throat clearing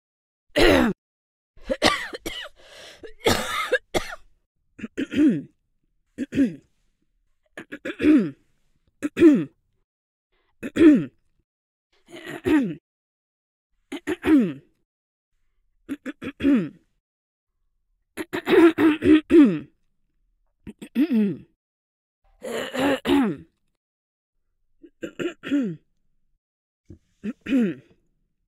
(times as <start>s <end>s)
4.8s 5.6s, 6.2s 6.7s, 7.6s 8.4s, 9.0s 9.6s, 10.6s 11.2s, 12.1s 12.8s, 13.9s 14.7s, 15.9s 16.8s, 18.2s 19.7s, 20.7s 21.6s, 22.4s 23.5s, 24.9s 25.8s, 26.9s 28.0s